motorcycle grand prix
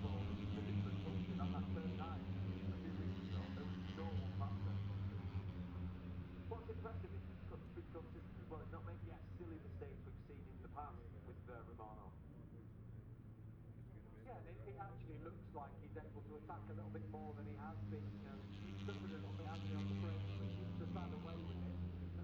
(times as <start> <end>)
0.0 8.7, 13.7 22.2